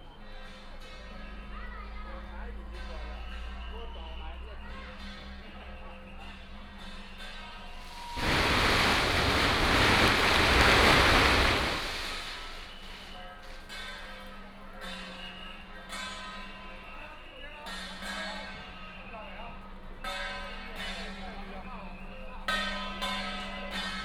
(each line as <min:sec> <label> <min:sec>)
0:07.7 Crowded crowd 0:13.3
0:07.8 Fireworks and firecrackers sound 0:13.2